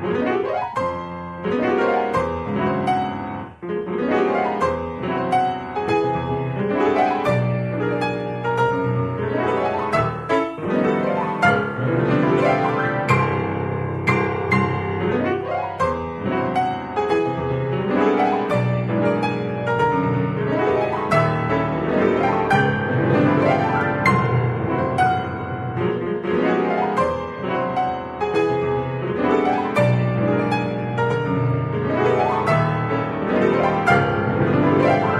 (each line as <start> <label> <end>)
0.0 Piano 35.1